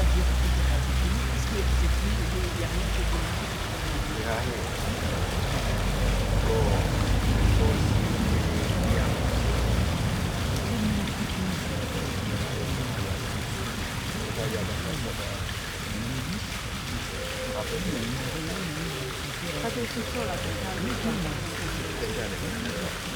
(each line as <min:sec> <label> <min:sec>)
0:00.0 Pigeons call 0:23.1
0:00.0 cars pass 0:23.1
0:00.0 fountain 0:23.1
0:00.0 people chatting on benches 0:23.1